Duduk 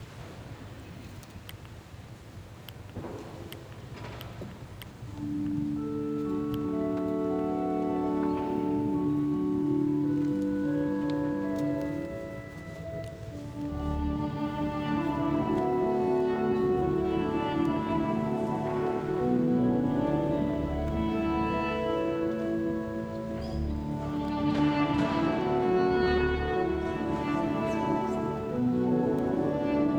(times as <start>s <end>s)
6.7s 29.9s